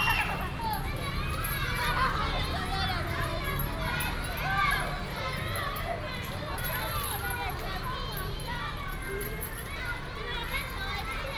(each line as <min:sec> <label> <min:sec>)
0:00.0 Primary school students 0:06.2